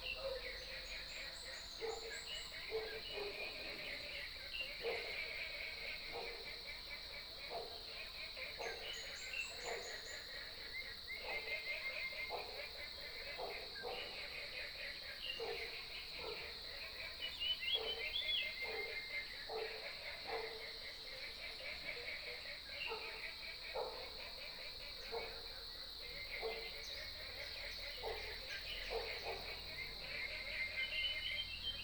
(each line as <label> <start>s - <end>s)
Frogs sound 0.0s - 31.8s
Dogs barking 1.8s - 3.8s
Dogs barking 4.8s - 5.2s
Dogs barking 7.5s - 7.9s
Dogs barking 11.2s - 14.4s
Dogs barking 15.3s - 16.6s
Dogs barking 17.7s - 20.8s
Dogs barking 22.8s - 24.3s
Dogs barking 25.0s - 25.6s
Dogs barking 26.4s - 26.8s
Dogs barking 27.8s - 29.8s